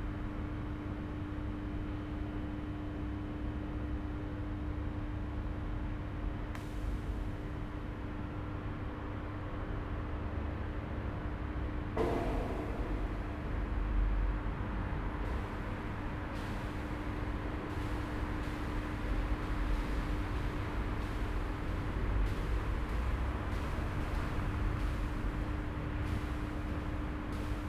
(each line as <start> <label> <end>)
12.0 trains driving in and out of the station 27.6